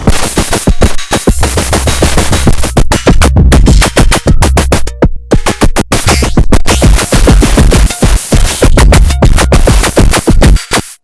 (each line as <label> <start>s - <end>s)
Chords 0.0s - 10.9s
Random Synthy Sounds 0.0s - 11.0s
Acid Like Bass 0.0s - 11.0s
Rhythms 0.0s - 11.0s